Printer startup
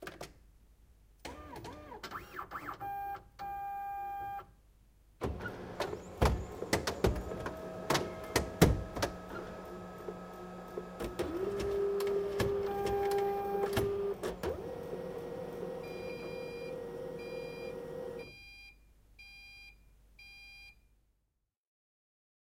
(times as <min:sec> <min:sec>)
0:05.2 0:18.3